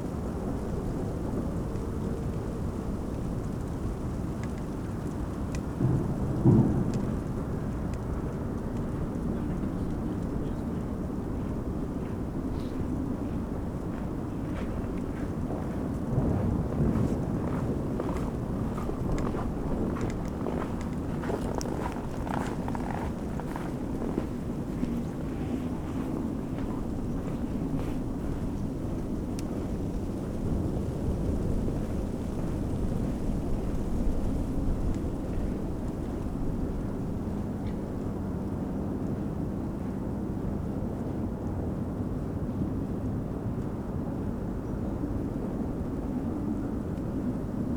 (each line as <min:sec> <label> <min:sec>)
0:00.0 dry leaves of a tree rustling in the wind 0:40.8
0:18.1 cracking ice of the frozen spree river 0:24.4